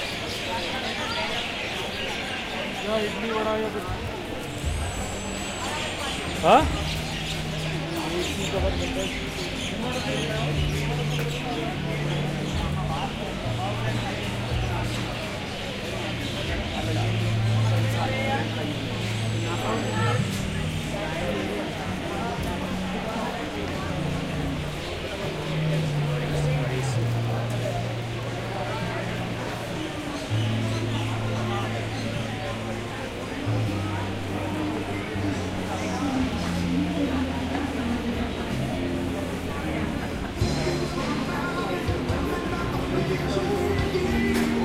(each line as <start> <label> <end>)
0.0 noisy night birds 3.7
0.0 human chatter 44.6
5.6 noisy night birds 20.2